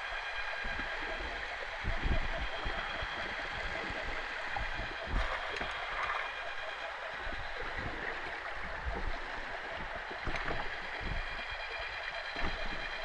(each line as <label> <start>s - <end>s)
underwater vibrations of boat traffic 0.0s - 13.0s